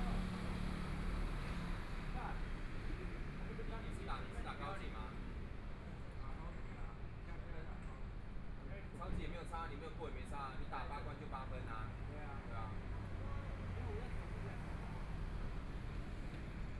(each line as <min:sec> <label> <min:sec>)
0:11.8 Traffic Sound 0:16.7